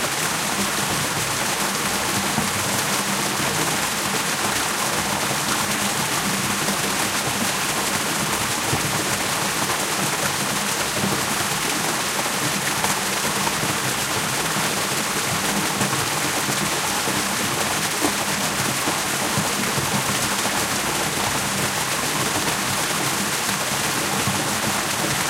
water cascading out of retreating Solheimajokull glacier 0:00.0 - 0:25.2

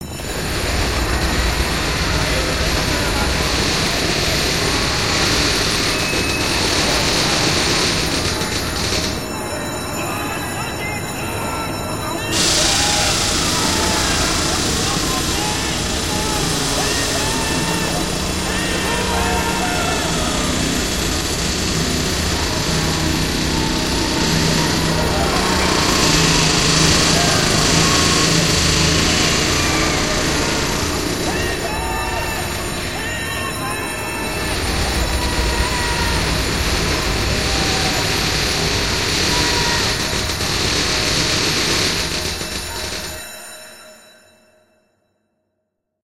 alarm bell 0:00.0 - 0:45.5
screams 0:00.0 - 0:43.8
crushing metal 0:12.4 - 0:43.2

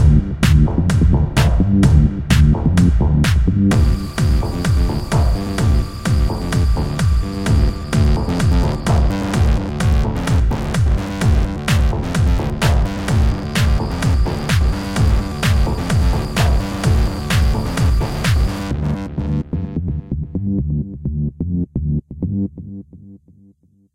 bass 0:00.0 - 0:23.9
synth 0:03.7 - 0:19.1

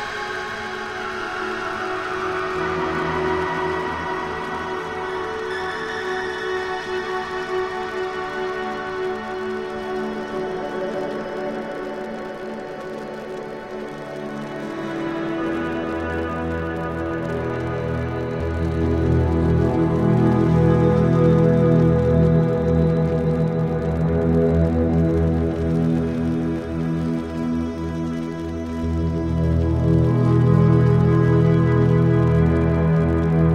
guitar 0:00.0 - 0:33.5

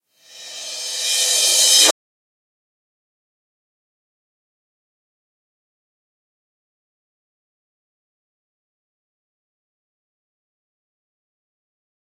Reverse Cymbal 0:00.2 - 0:01.9

